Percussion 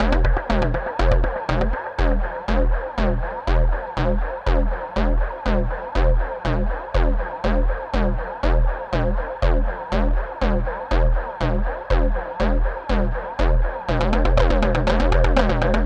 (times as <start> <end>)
0.0 3.3